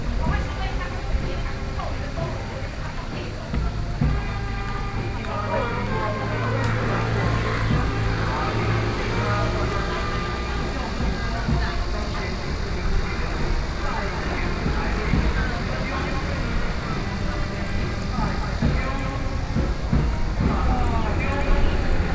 Cicada sounds 0:00.0 - 0:22.1
Traffic Sound 0:00.0 - 0:22.1
funeral 0:00.0 - 0:22.1

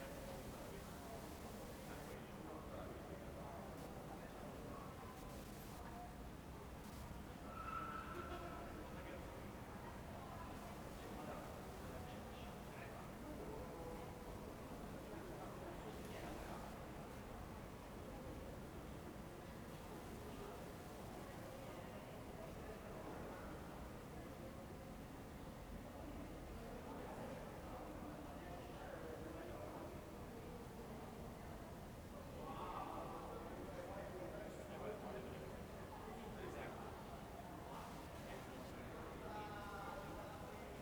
transistor radio, scanning MW 0:00.4 - 0:02.2

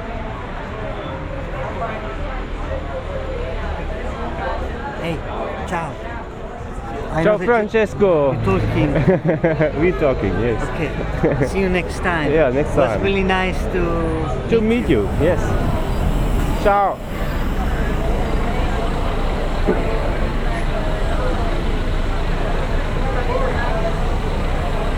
noise from inside the pub 0:00.0 - 0:24.9
traffic noise 0:07.9 - 0:24.9

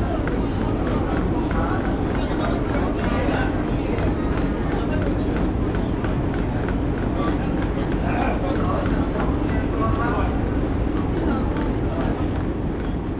Express Boat 0:00.0 - 0:13.1

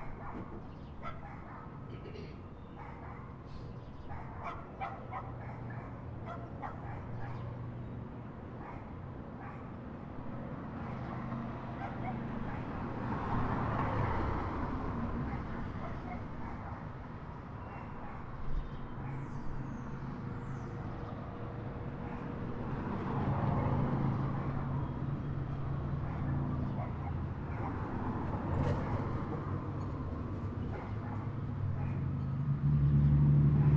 dogs 0:00.0 - 0:07.7
dogs 0:08.6 - 0:09.8
dogs 0:10.7 - 0:14.2
dogs 0:15.1 - 0:19.8
dogs 0:21.9 - 0:24.8
dogs 0:25.8 - 0:32.1

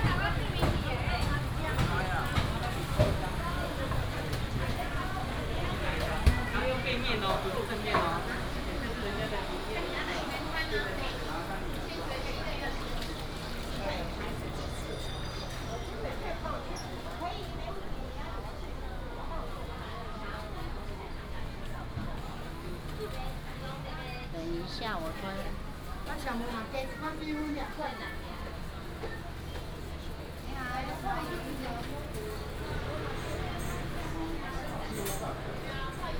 Traffic sound 0:00.0 - 0:19.2
Walking in the market 0:00.0 - 0:36.1
Traffic sound 0:27.9 - 0:36.1

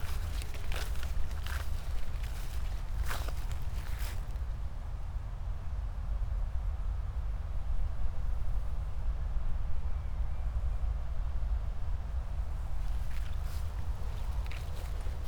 high grass 0:00.0 - 0:04.5
high grass 0:12.8 - 0:15.2

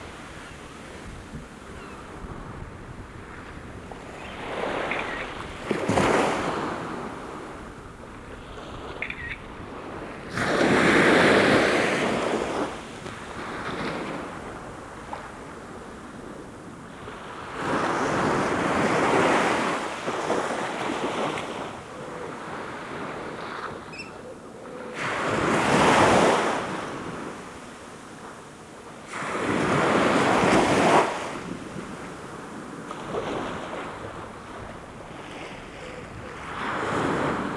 waves washing upon the shore 0:00.0 - 0:24.0
waves washing upon the shore 0:24.9 - 0:37.5

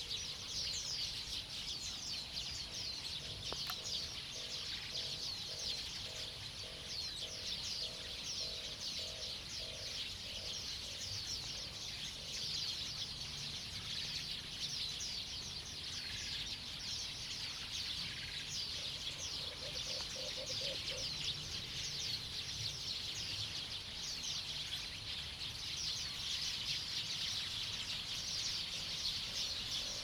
Birdsong 0:00.0 - 0:30.0

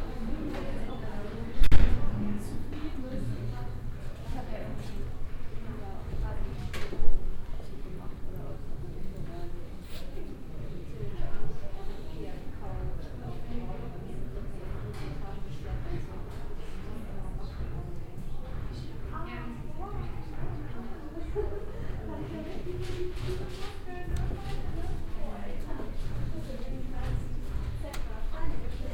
dance studios with workshops going on 0:00.0 - 0:28.9
Walking on a corridor 0:00.2 - 0:28.9

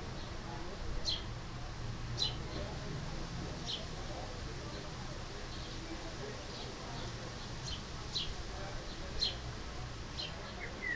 wind 0:00.0 - 0:10.9

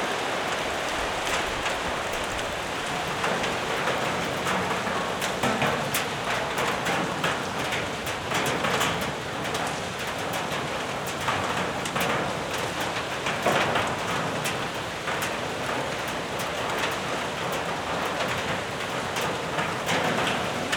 intense rain in hall 0:00.0 - 0:20.7

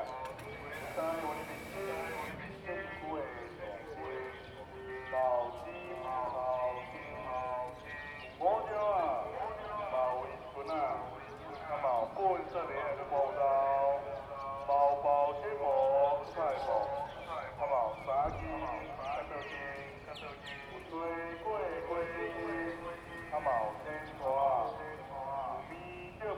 Pumping motor sound 0:00.5 - 0:02.4
broadcast message 0:00.6 - 0:02.5
broadcast message 0:21.4 - 0:26.3

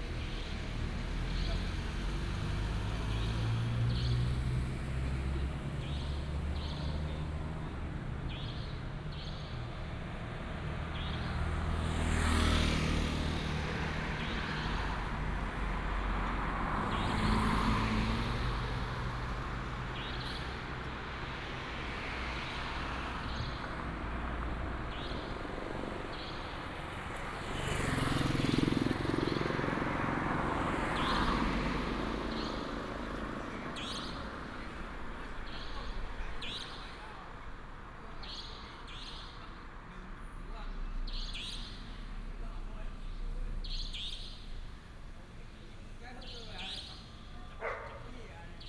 Traffic sound 0:00.0 - 0:48.6
Dog barking 0:47.5 - 0:48.2

